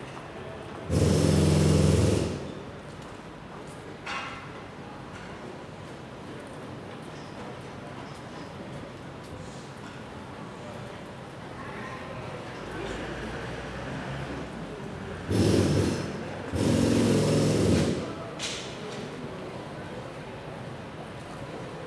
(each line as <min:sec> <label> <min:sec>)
0:15.3 borers digging the entrance 0:18.1